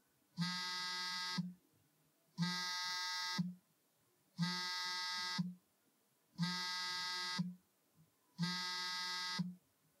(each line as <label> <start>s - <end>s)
Cell phone vibrate 0.4s - 1.6s
Cell phone vibrate 2.4s - 3.6s
Cell phone vibrate 4.4s - 5.6s
Cell phone vibrate 6.4s - 7.6s
Cell phone vibrate 8.4s - 9.6s